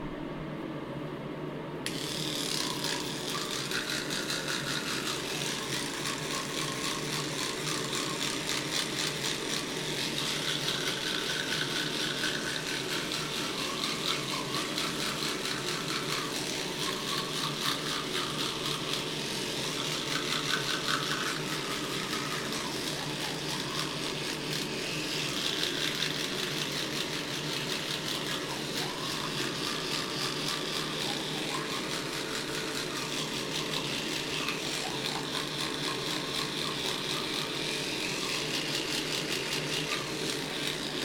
1.9s bathroom routine 41.0s

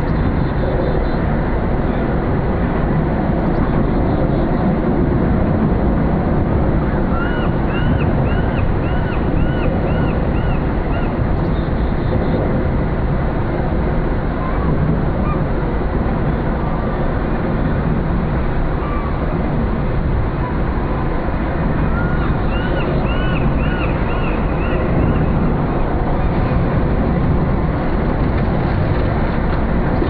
0.0s distant water plane 30.0s
0.0s traffic passing an resonating in the construction 30.0s
7.1s seagulls 11.2s
21.9s seagulls 25.3s

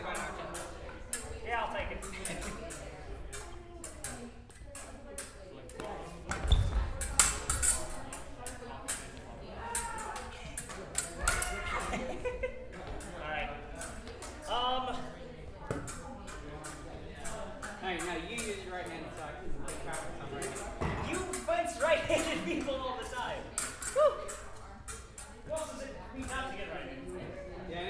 0.1s Sabre fencing 11.7s
23.5s Sabre fencing 26.5s

